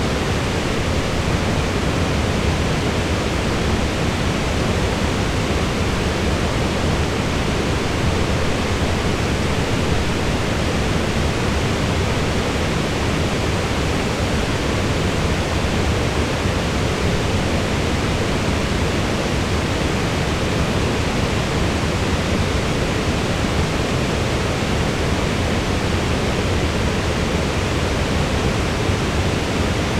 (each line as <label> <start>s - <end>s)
water 0.0s - 29.9s